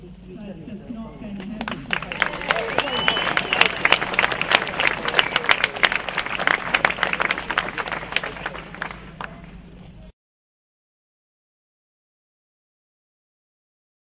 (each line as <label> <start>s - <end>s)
people clapping 1.4s - 9.6s
cheering 1.7s - 9.6s